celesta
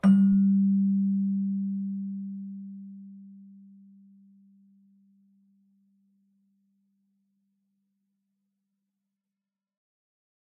0:00.0 0:04.9

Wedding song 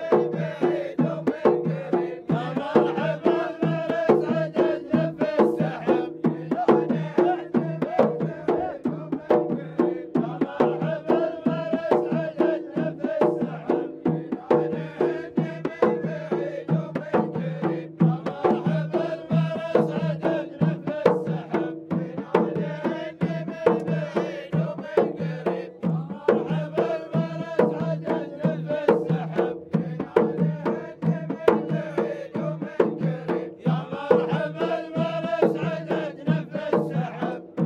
0:22.9 0:37.6

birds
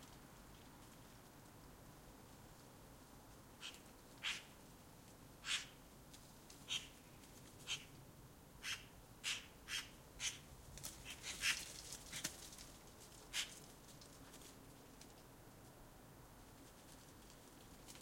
0:03.6 0:04.6, 0:05.4 0:05.8, 0:06.6 0:08.0, 0:08.6 0:13.7

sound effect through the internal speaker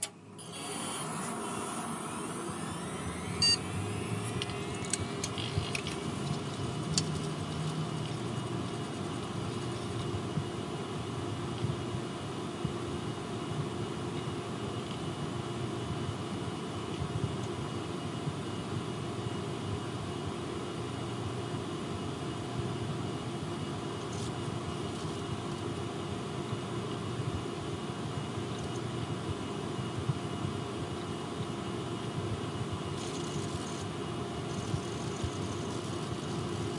0:00.5 0:08.5

